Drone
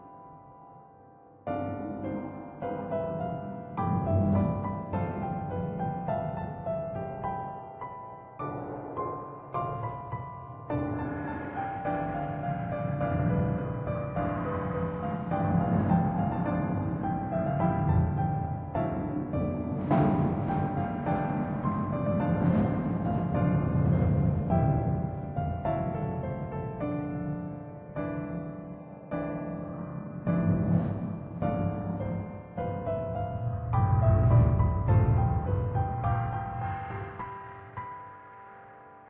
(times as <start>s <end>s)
1.6s 6.4s, 10.7s 27.7s, 29.6s 37.4s